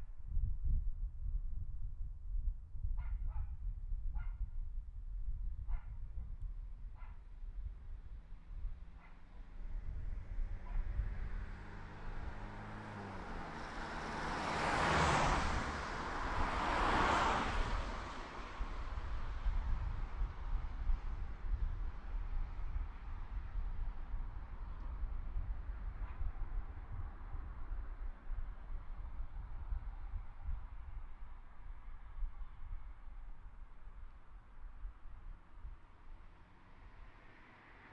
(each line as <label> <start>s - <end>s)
cars passing 8.8s - 23.4s
cars passing 36.0s - 37.9s